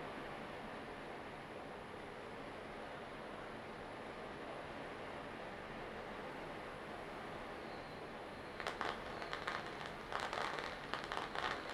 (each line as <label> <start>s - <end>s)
Fireworks 8.4s - 11.7s
Firecrackers 8.5s - 11.7s